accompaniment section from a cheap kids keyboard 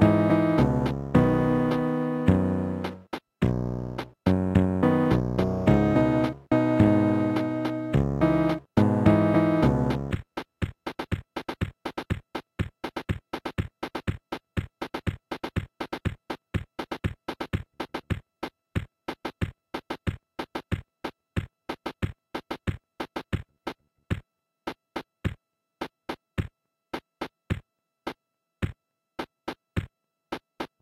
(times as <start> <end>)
0.0 10.2